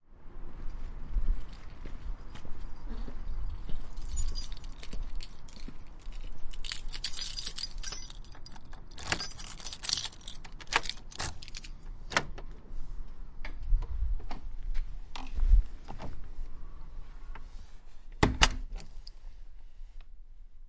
keys 0:02.2 - 0:11.9
front door being unlocked, opened and closed 0:06.6 - 0:12.5
front door being unlocked, opened and closed 0:18.2 - 0:18.9

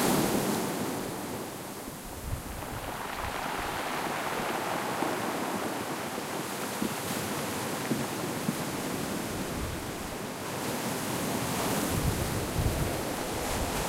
waves 0:00.0 - 0:13.8

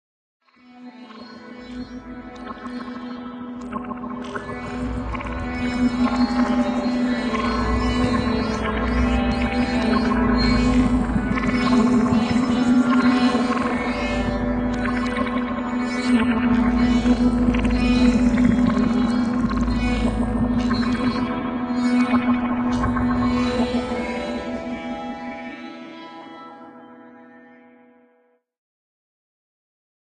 sitar 0:00.5 - 0:28.4

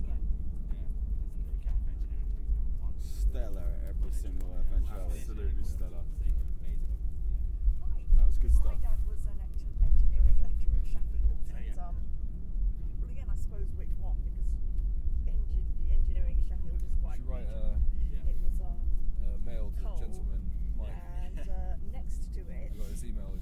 people talking 0:00.0 - 0:07.1
people talking 0:07.7 - 0:12.0
people talking 0:12.8 - 0:14.6
people talking 0:15.2 - 0:23.4

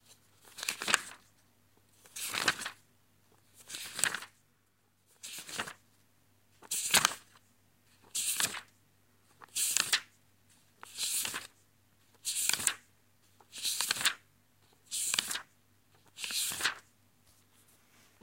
Flipping through a book 0:00.3 - 0:01.3
Flipping through a book 0:02.0 - 0:02.8
Flipping through a book 0:03.4 - 0:04.4
Flipping through a book 0:05.2 - 0:05.8
Flipping through a book 0:06.6 - 0:07.4
Flipping through a book 0:08.0 - 0:08.7
Flipping through a book 0:09.3 - 0:10.1
Flipping through a book 0:10.8 - 0:14.2
Flipping through a book 0:14.8 - 0:18.2

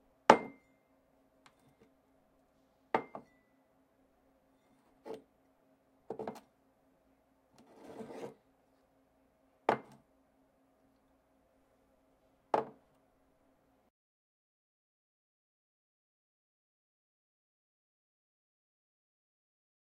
Placing a ceramic mug on a table 0:00.3 - 0:00.6
Placing a ceramic mug on a table 0:02.9 - 0:03.4
Placing a ceramic mug on a table 0:06.1 - 0:06.4
Placing a ceramic mug on a table 0:09.7 - 0:10.0
Placing a ceramic mug on a table 0:12.5 - 0:12.8

